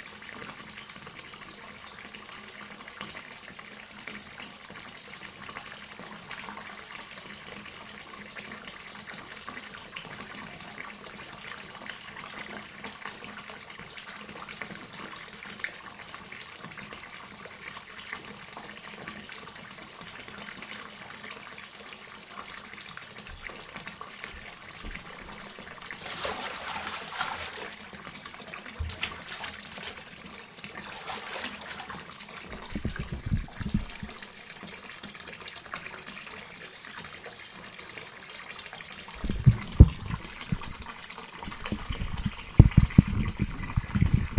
bath running 0:22.4 - 0:37.6
water being splashed 0:24.4 - 0:27.9
water being splashed 0:28.7 - 0:30.2
water being splashed 0:30.8 - 0:34.3
bath running 0:38.5 - 0:44.3
water being splashed 0:39.2 - 0:44.3

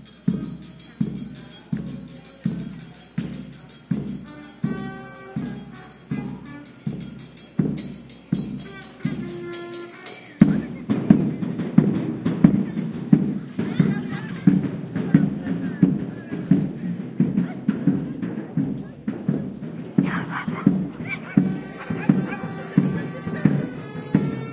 percussion 0:00.0 - 0:24.5
trumpet 0:04.1 - 0:07.5
trumpet 0:08.4 - 0:10.7
trumpet 0:20.0 - 0:24.5

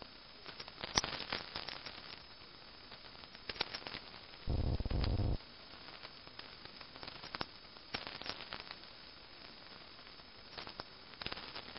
Static from lightning 0:04.4 - 0:05.4
other transmission that was faint 0:04.5 - 0:05.4

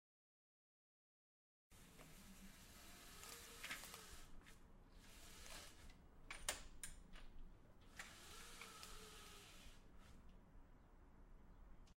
raising window blinds 0:01.8 - 0:06.6
raising window blinds 0:07.8 - 0:10.3

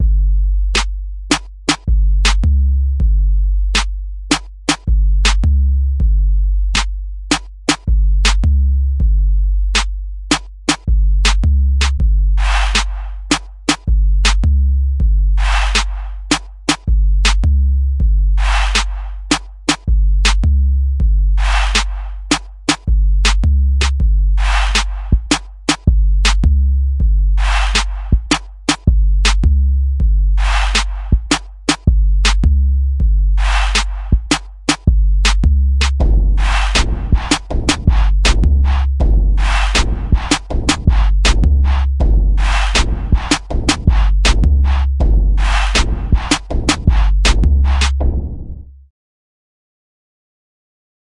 Snare 0:00.8 - 0:02.4
Snare 0:03.8 - 0:05.4
Snare 0:06.8 - 0:08.4
Snare 0:09.7 - 0:14.4
Snare 0:15.4 - 0:17.4
Snare 0:18.4 - 0:20.4
Snare 0:21.4 - 0:26.4
Snare 0:27.4 - 0:29.4
Snare 0:30.4 - 0:32.4
Snare 0:33.4 - 0:48.6

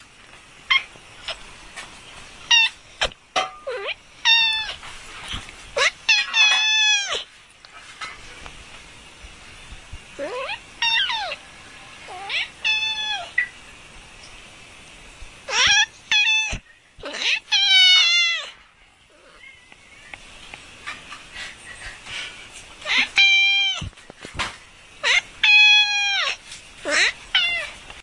maiowing cat 0:12.1 - 0:13.3
maiowing cat 0:25.0 - 0:27.8

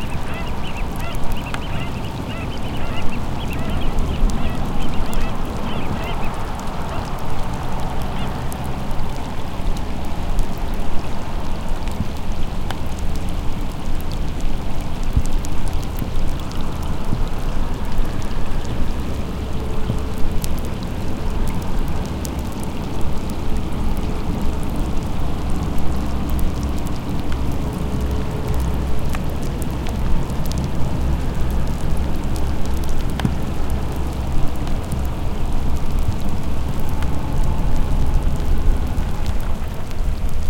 pelicans 0:00.0 - 0:07.2
distant cars 0:00.0 - 0:11.5
rumble 0:00.0 - 0:40.4

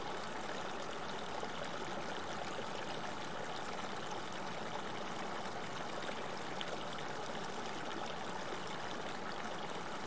Small river 0:00.0 - 0:10.0

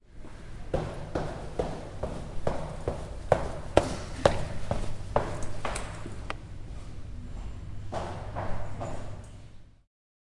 Walking down the stairs 0:00.2 - 0:06.4

